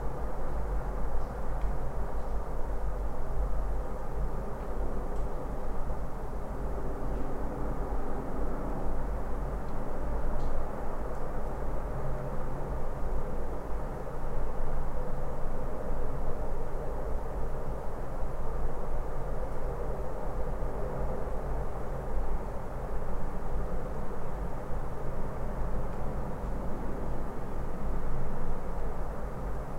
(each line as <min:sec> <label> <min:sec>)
0:00.0 distant hum of a city 0:29.7